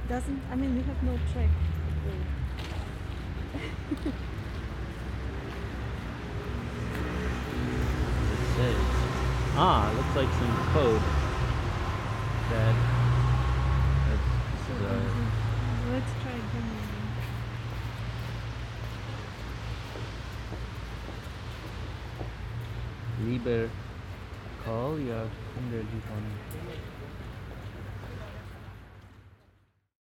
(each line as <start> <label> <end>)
0.8 walking 8.0
16.7 walking 23.0